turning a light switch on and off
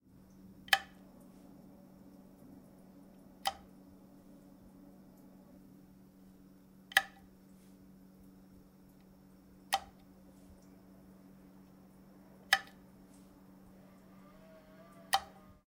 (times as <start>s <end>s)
0.6s 1.1s, 3.4s 3.7s, 6.9s 7.3s, 8.9s 10.7s, 12.4s 12.8s, 15.0s 15.4s